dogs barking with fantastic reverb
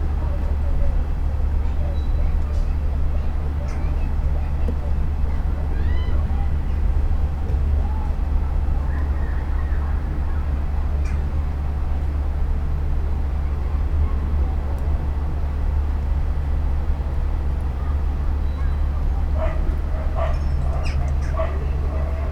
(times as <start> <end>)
19.3 22.3